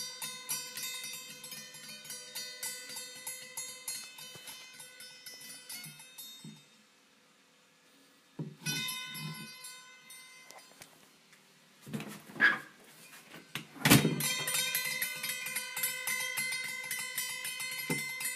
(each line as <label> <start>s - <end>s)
metallic dinging sound coming from a small hammer 0.0s - 6.8s
metallic dinging sound coming from a small hammer 8.6s - 10.7s
metallic dinging sound coming from a small hammer 14.1s - 18.3s